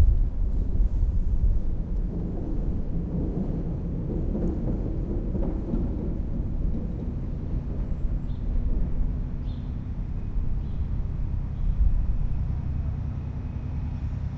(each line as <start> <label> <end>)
0.0 train 14.3
0.0 trams 14.3